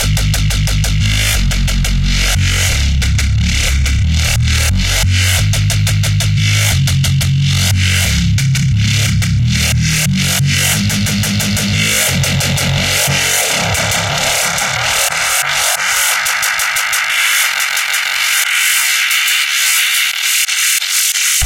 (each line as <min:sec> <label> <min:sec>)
0:00.0 Bass 0:20.2
0:00.0 Drums 0:21.4
0:10.2 Pad 0:18.9